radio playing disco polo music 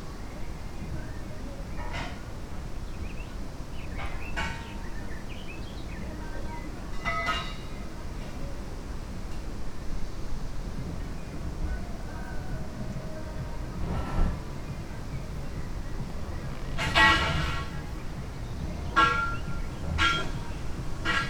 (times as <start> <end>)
11.4 21.2